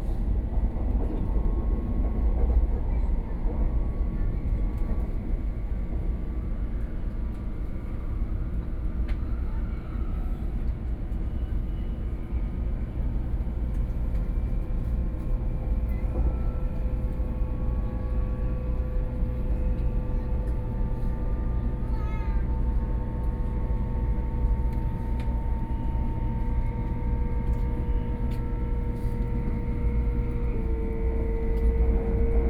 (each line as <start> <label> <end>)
0.0 High-speed rail train 32.4